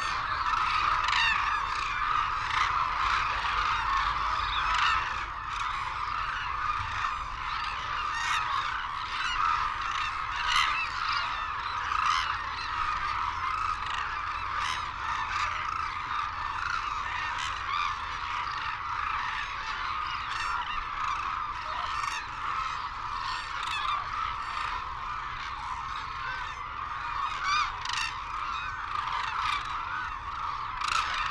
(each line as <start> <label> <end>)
0.0 calls and flight calls from white naped cranes and hooded cranes 31.3
0.0 windy 31.3